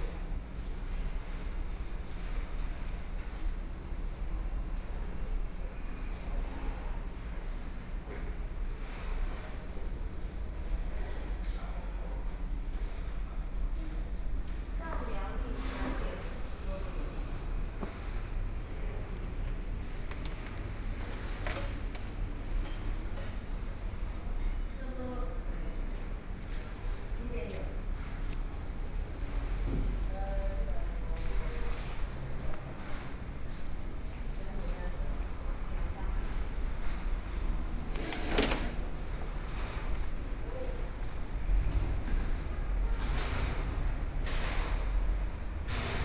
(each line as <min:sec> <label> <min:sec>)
0:15.6 Railway construction noise 0:46.0